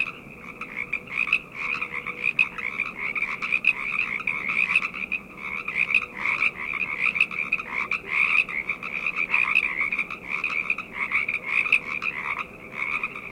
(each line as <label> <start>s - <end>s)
frogs 0.0s - 13.3s